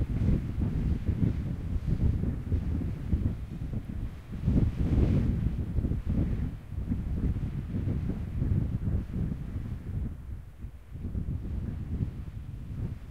wind 0.0 - 13.1

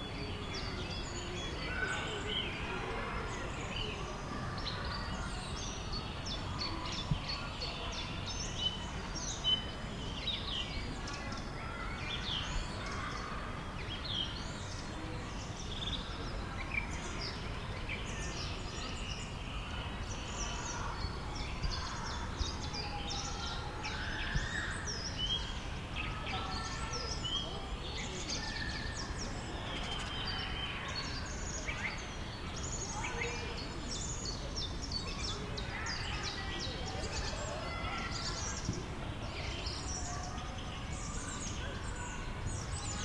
bird sounds 0.0 - 43.0
kids playing in the background 0.0 - 43.0
people chatting 0.0 - 43.0

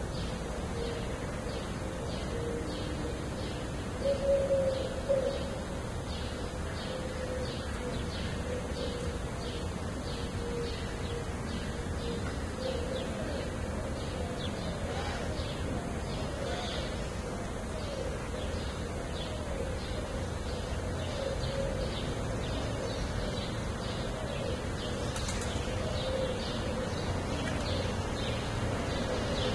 cuckoo's calling 0.2 - 29.5

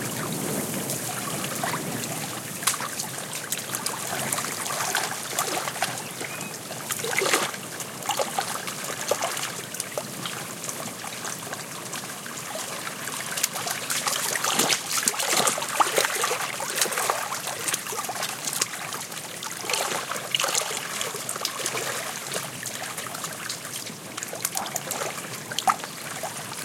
wind 0.0 - 26.6
birds singing in background 5.8 - 6.8

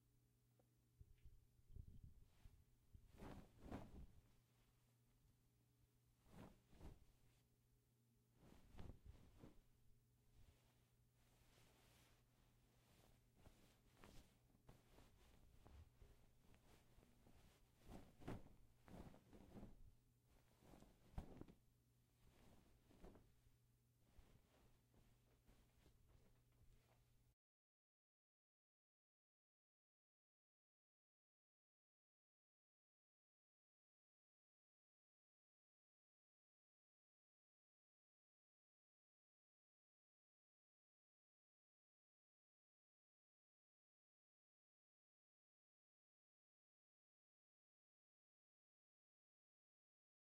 untitled bedsheets 1.1 - 27.2

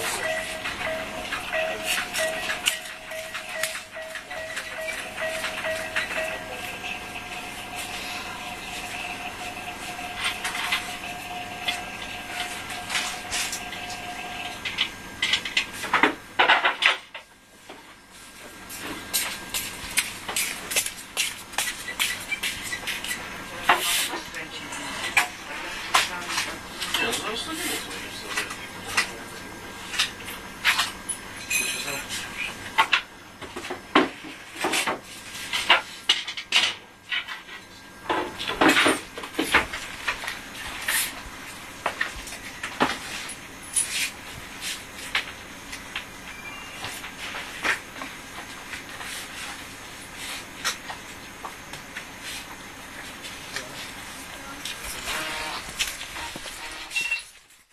chillers 0.0 - 16.4

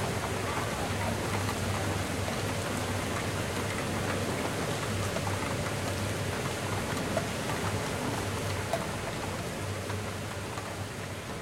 havy rain 0.0 - 11.4

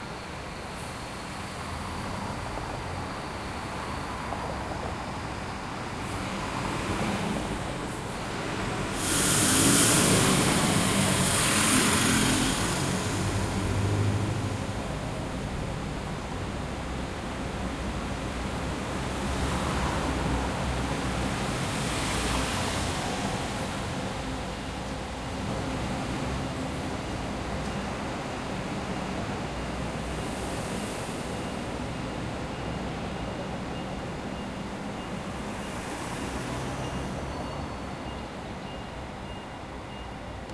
Bus leaving 0.0 - 40.5
passing cars 0.6 - 39.8

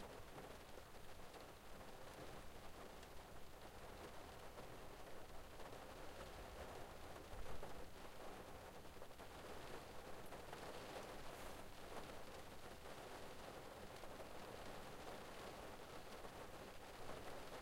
Rain on Car Windshield 0.1 - 17.6

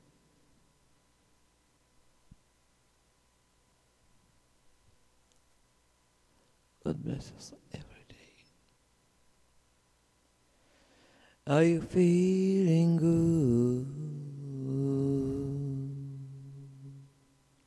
singing 11.5 - 17.2

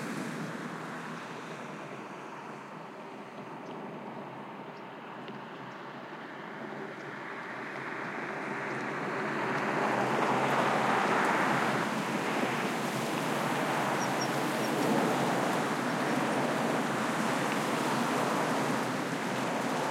Cars Passing Highway 0.0 - 4.7
Cars Passing Highway 5.5 - 19.9

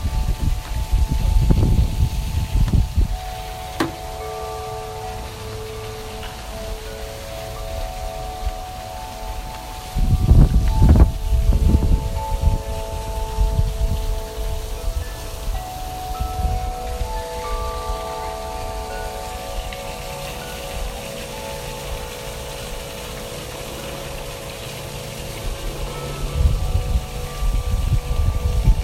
water fountain making noise 0.0 - 28.8
windchimes making noise 0.0 - 28.8

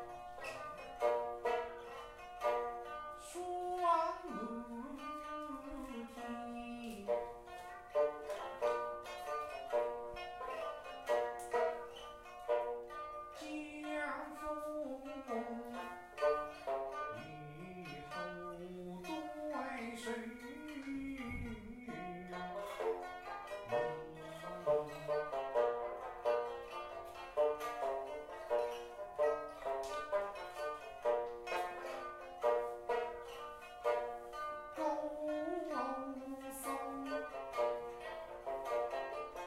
pipa 0.0 - 39.4
voice 3.2 - 7.2
voice 17.1 - 22.9
voice 34.8 - 37.3

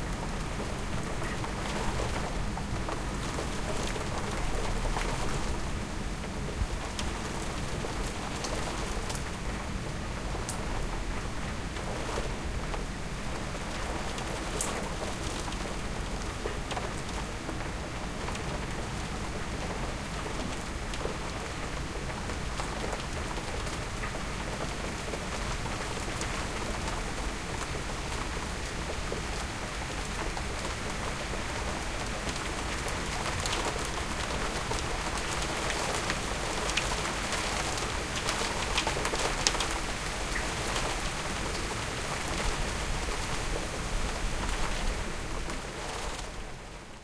rain storm 0.0 - 47.0

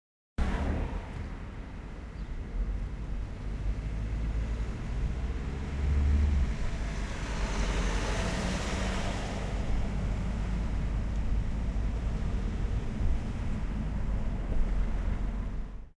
cars 0.4 - 15.9

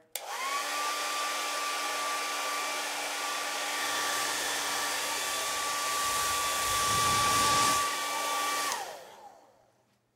Hairdryer 0.1 - 9.8

